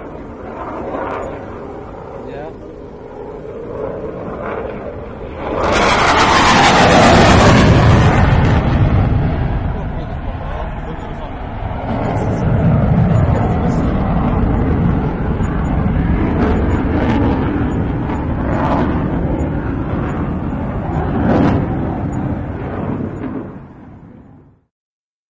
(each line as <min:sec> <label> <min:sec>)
0:03.8 Gripen flypast3 0:23.4